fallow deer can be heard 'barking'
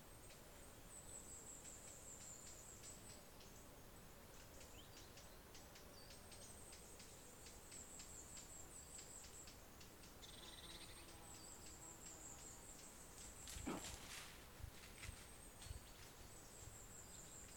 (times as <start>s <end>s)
13.5s 14.3s